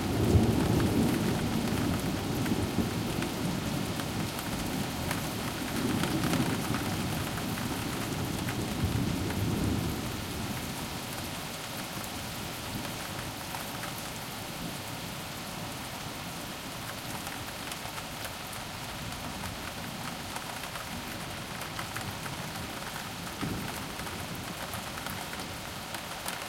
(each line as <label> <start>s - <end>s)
rain 0.0s - 26.4s